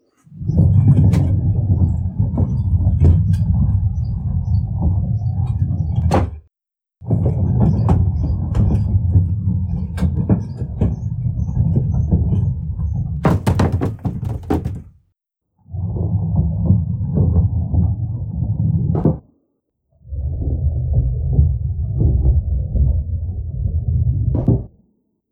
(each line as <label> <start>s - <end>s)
barrel rolling across a wooden floor 0.3s - 6.1s
barrel rolling across a wooden floor 7.1s - 14.9s